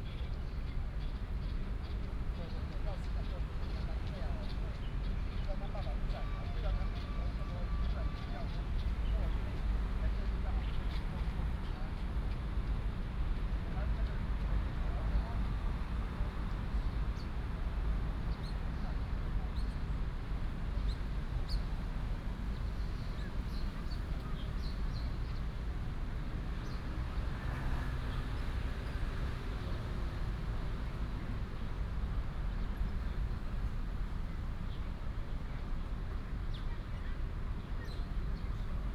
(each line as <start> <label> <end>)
0.2 traffic sound 38.9
20.8 birds sound 25.6
35.6 birds sound 38.8